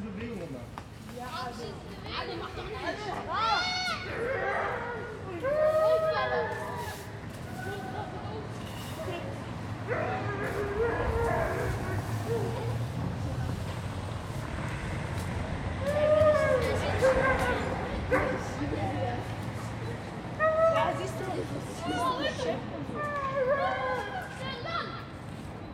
sweep the leaves from the sidewalk 4.4 - 20.2
children 14.6 - 25.5

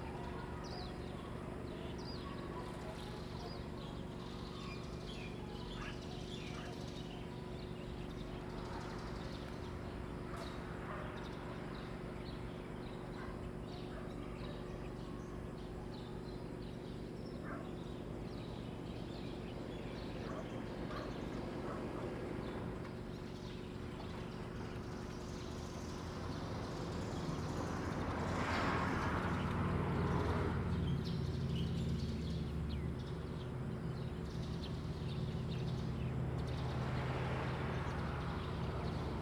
Birdsong 0.0 - 39.2
Traffic Sound 26.1 - 39.2

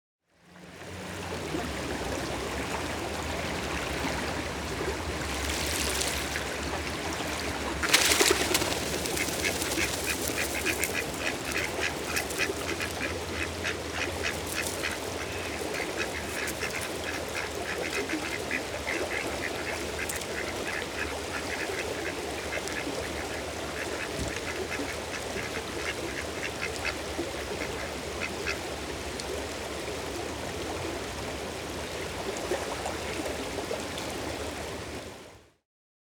Duck Flap 5.2 - 21.8

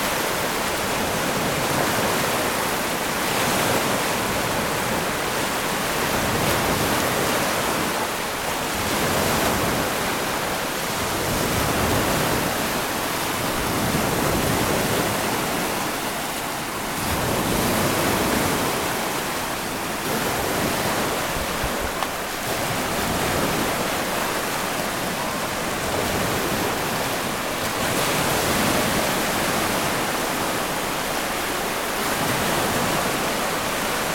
waves approach from both sides 0.0 - 34.1

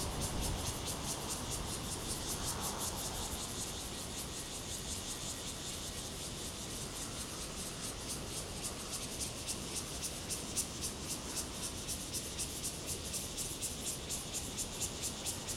Cicadas sound 0.0 - 15.5

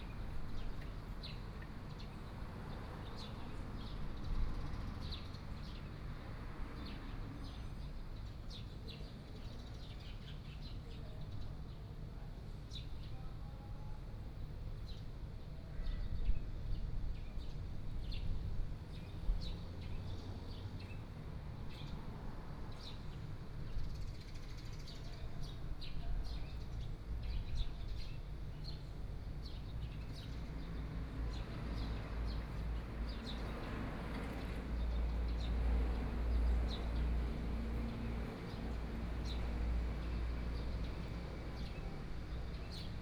Birdsong sound 22.7 - 43.0
Traffic Sound 29.7 - 43.0

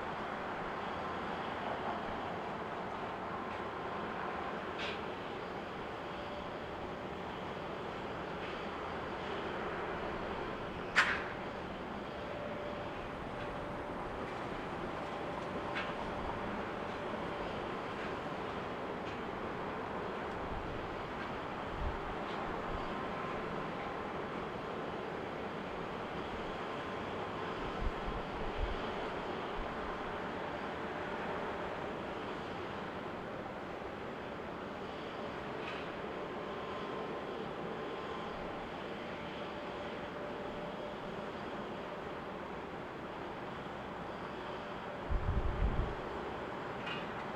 landings and take offs on runway 12R 0.0 - 47.3

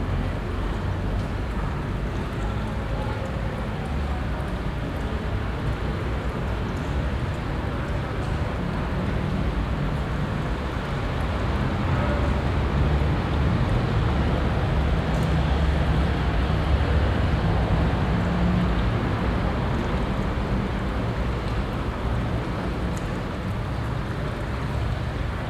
small water pool 0.0 - 25.4

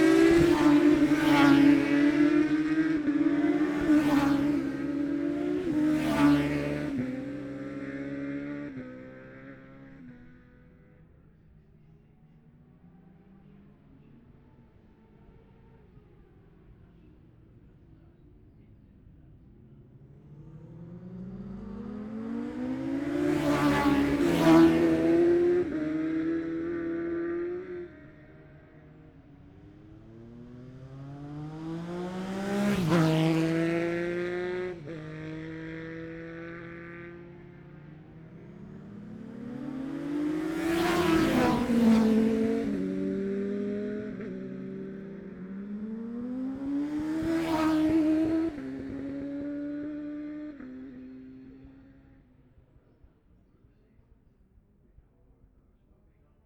classic superbikes practice 0.0 - 56.4

